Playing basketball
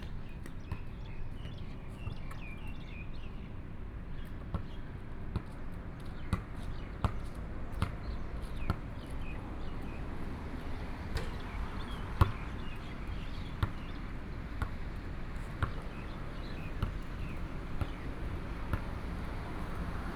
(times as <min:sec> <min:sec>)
0:10.7 0:20.1